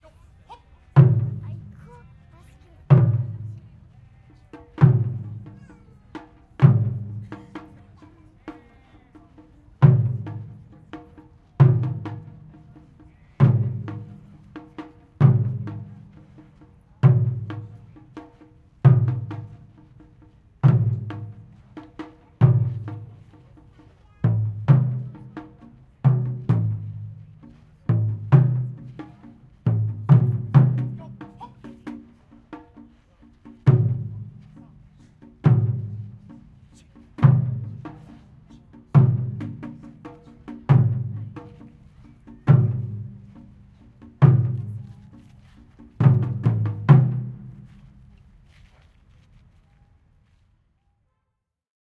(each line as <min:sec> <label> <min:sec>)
0:00.0 sounds from the city around 0:28.3
0:00.0 voices from the people watching 0:46.3
0:00.5 traditional Japanese drums 0:48.8
0:39.6 sounds from the city around 0:51.4